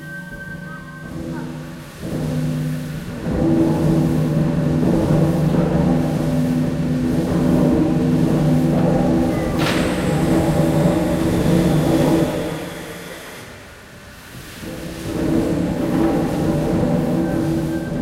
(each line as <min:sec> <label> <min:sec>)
0:00.0 steamengine 0:18.0